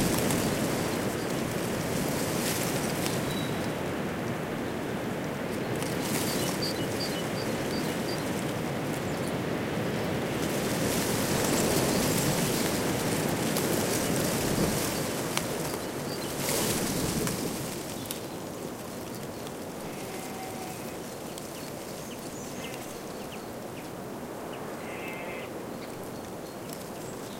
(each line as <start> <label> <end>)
0.0 birds 27.3
0.0 wind blowing through an European Beech hedge 27.3
19.6 sheep 21.5
24.6 sheep 25.6